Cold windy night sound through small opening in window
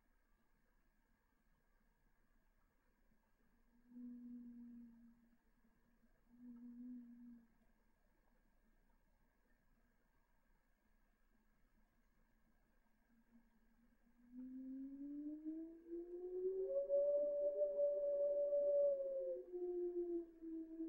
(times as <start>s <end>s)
7.0s 20.8s